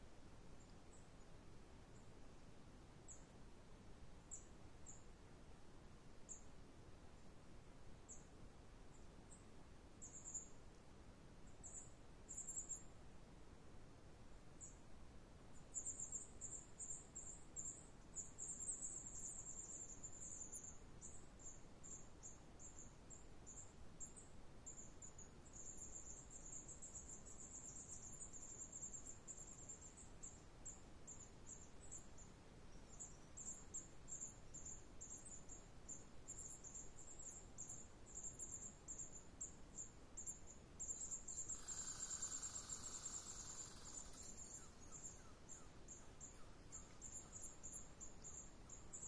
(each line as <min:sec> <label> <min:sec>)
0:00.0 Forest birds 0:02.4
0:00.0 light breeze 0:49.0
0:03.0 Forest birds 0:03.3
0:04.3 Forest birds 0:05.2
0:06.2 Forest birds 0:06.6
0:08.0 Forest birds 0:08.3
0:08.9 Forest birds 0:10.6
0:11.4 Forest birds 0:12.9
0:14.6 Forest birds 0:14.8
0:15.5 Forest birds 0:49.0